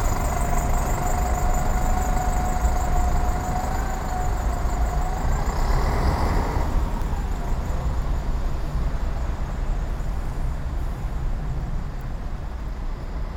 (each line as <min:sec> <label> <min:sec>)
0:00.0 bus driving in and standing with running engine 0:13.3